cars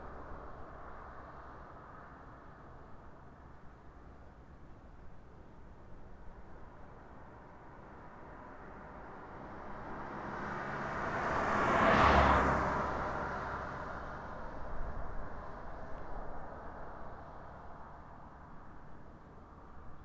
6.4 20.0

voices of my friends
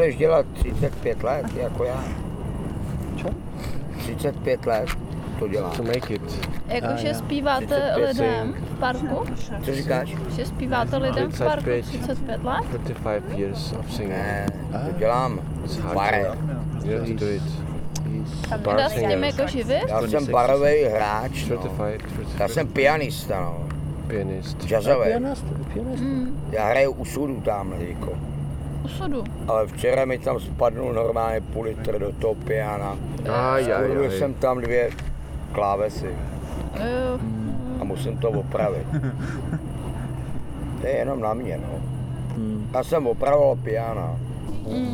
36.7 40.5

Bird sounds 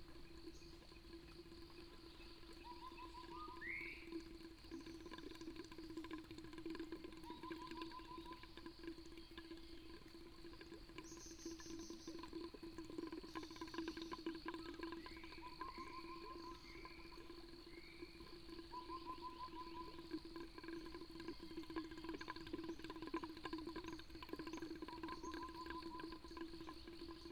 1.7 5.1, 11.0 27.3

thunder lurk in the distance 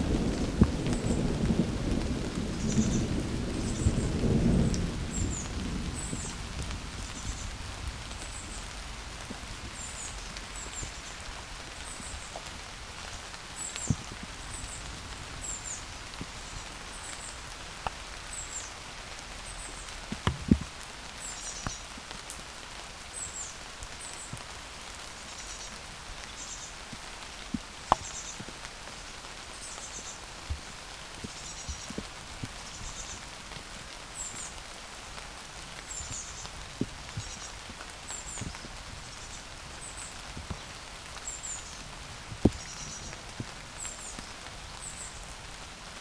0.0 9.9

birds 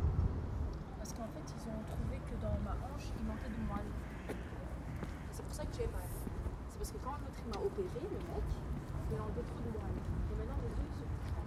2.9 6.1

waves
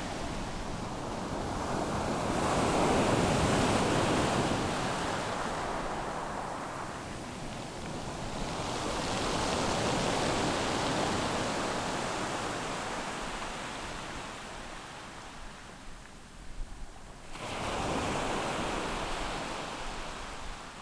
17.3 20.8

